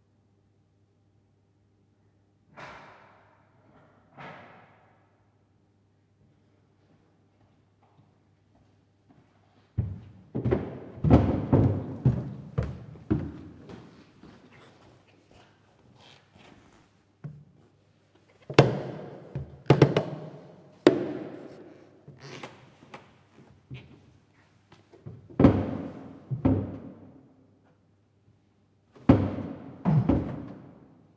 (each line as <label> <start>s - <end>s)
creaky old wooden stairs 9.8s - 16.8s
squeaky shoes 14.4s - 16.8s
creaky old wooden stairs 22.1s - 24.1s
squeaky shoes 22.2s - 22.7s